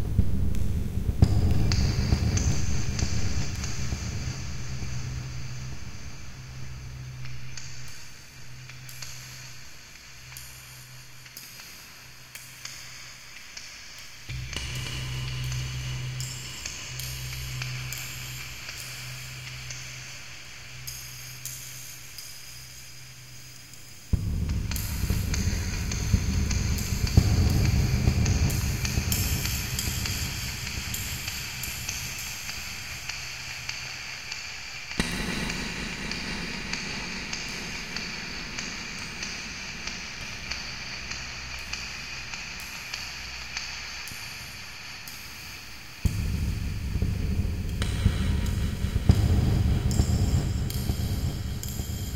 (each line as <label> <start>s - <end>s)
deep noise 0.0s - 5.6s